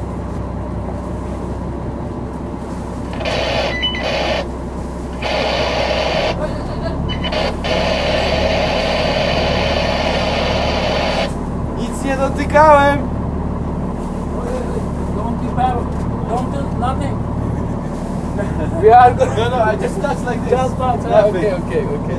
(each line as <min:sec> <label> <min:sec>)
0:00.0 boat 0:22.1
0:02.9 conversations 0:22.1
0:03.1 radio 0:11.4